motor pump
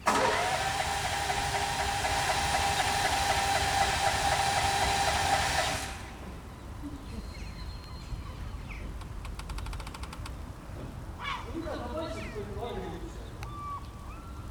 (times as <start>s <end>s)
0.0s 6.4s